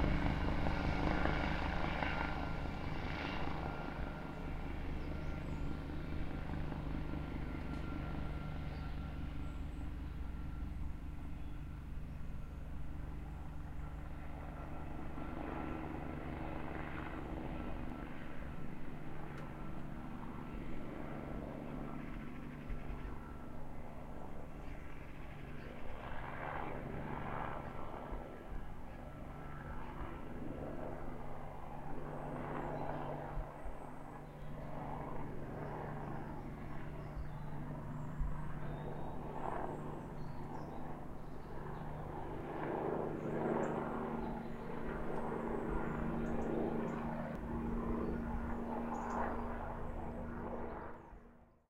Helicopter Flyby, Distant 0:00.0 - 0:51.6

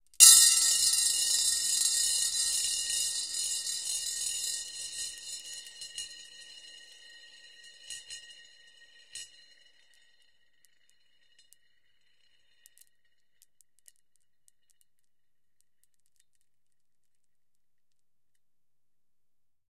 marbles - rolling around 33cm ceramic bowl 0:00.0 - 0:15.1

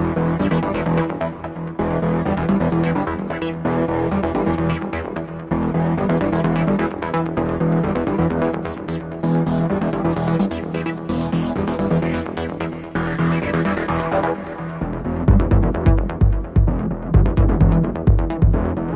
drumkit 0:15.3 - 0:18.8
percussions 0:15.3 - 0:18.9

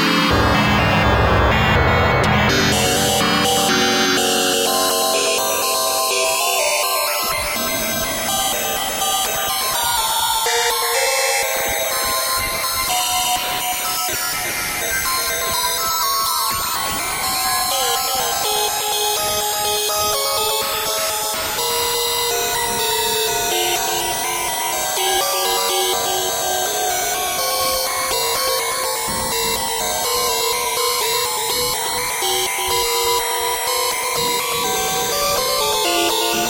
synth 0:00.0 - 0:06.2

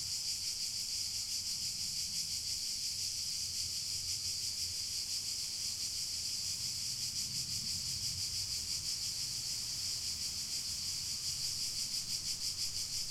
cicadas 0:00.0 - 0:13.1
crickets 0:00.0 - 0:13.1

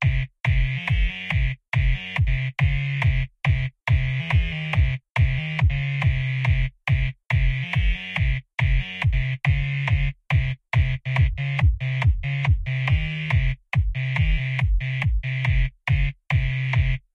Kick 0:00.0 - 0:07.5
bass 0:00.0 - 0:17.1
Kick 0:08.2 - 0:16.9

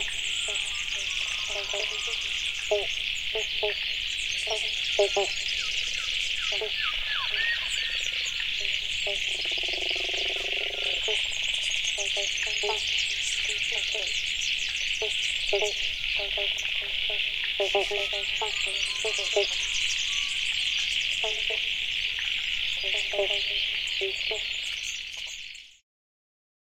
dawn chorus 0:00.0 - 0:25.0
frog sounds 0:00.0 - 0:25.8
insects 0:00.0 - 0:25.8
crow 0:00.4 - 0:02.4

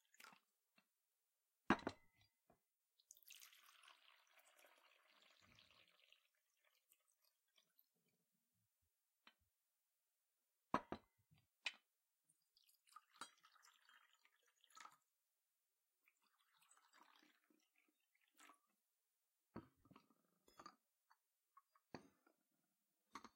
Putting cups down 0:01.7 - 0:02.1
Pouring into cups 0:03.1 - 0:07.9
Pouring into cups 0:12.4 - 0:15.1
Pouring into cups 0:16.0 - 0:18.8

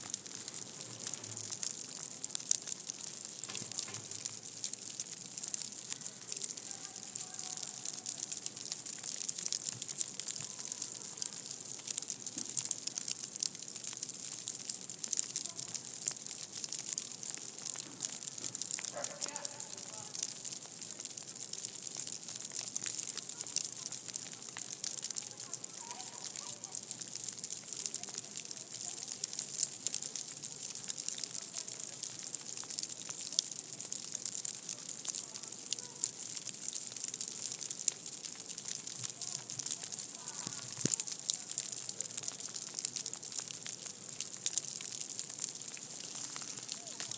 snow pellets colliding with dry leaves of a tree 0:00.0 - 0:04.9
snow pellets colliding with dry leaves of a tree 0:45.8 - 0:47.1

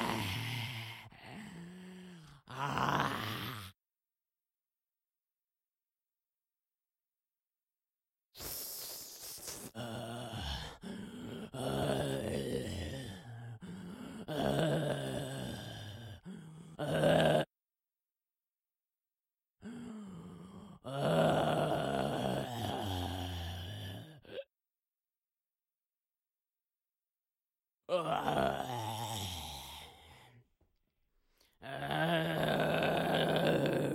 Single groaning zombie 0:27.9 - 0:30.0
Single groaning zombie 0:31.6 - 0:33.9

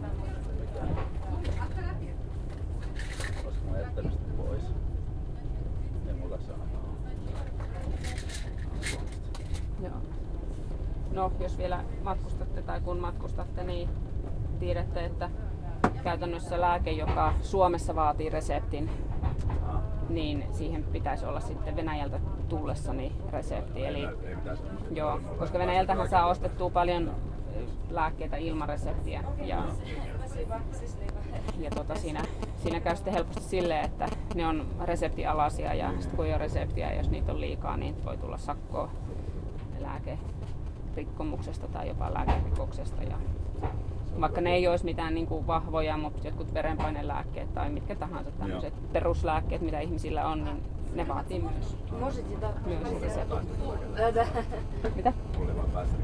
train 0:00.0 - 0:52.8
officials check passports 0:31.0 - 0:34.7
Passport stamping sounds 0:31.1 - 0:34.7

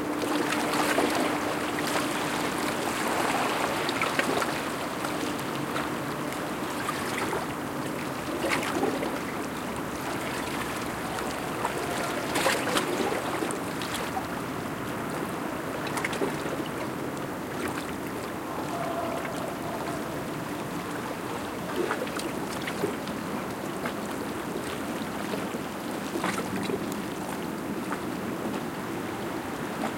waves 0:00.0 - 0:29.9
windy night 0:00.0 - 0:29.9

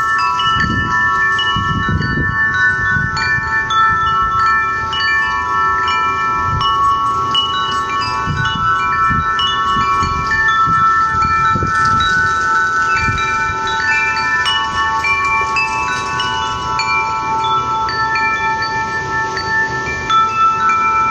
wind 0:00.0 - 0:21.1
wind chimes 0:00.0 - 0:21.1

